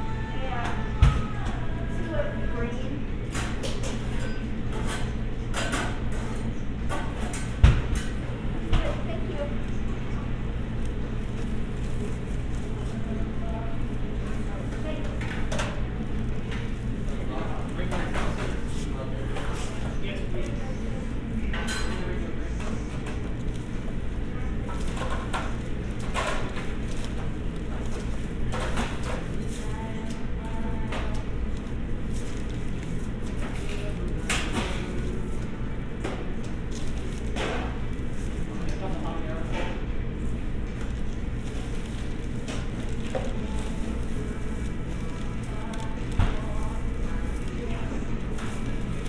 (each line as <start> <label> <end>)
3.1 Kitchen sounds 49.0
8.0 people ordering 49.0
22.9 crinkling of paper bags 49.0